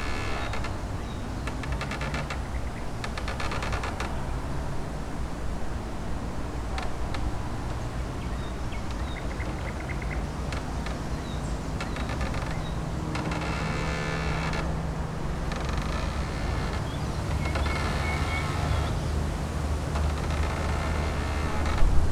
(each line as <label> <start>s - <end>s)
wind and tree 0.0s - 22.1s